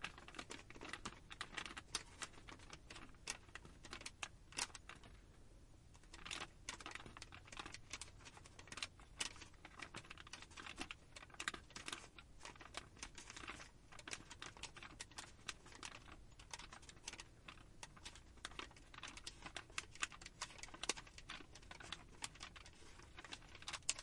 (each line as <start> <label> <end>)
6.0 receipt paper crumple 24.0